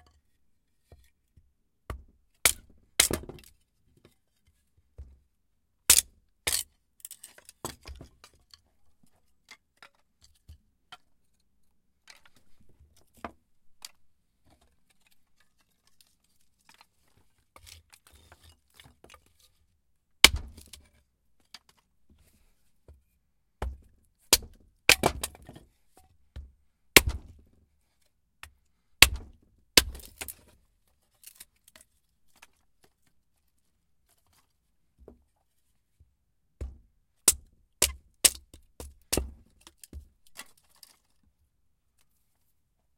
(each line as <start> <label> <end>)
1.9 Choping wood with an ax 3.5
5.9 Choping wood with an ax 6.6
20.2 Choping wood with an ax 20.8
23.6 Choping wood with an ax 25.7
26.4 Choping wood with an ax 27.5
29.0 Choping wood with an ax 30.4
36.6 Choping wood with an ax 40.4